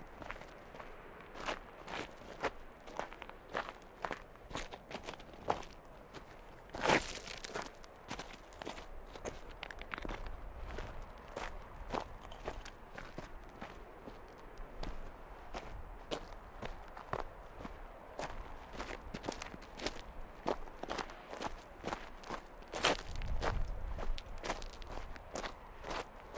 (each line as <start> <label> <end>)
0.0 Person walking by 26.3